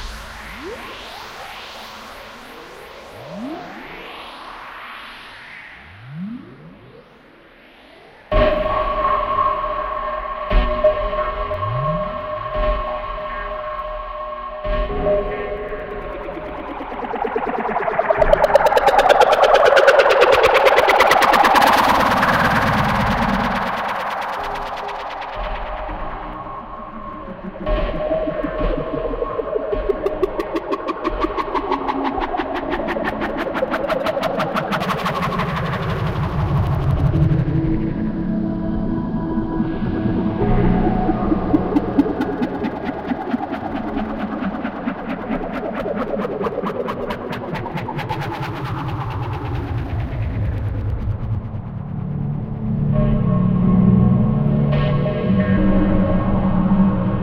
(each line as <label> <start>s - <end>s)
Trippy Drone 0.0s - 57.2s